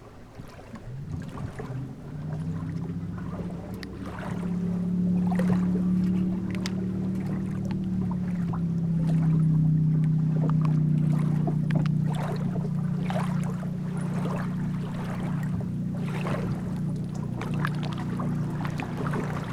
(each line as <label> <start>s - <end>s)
boats swaying at the shore of the lake 0.0s - 19.5s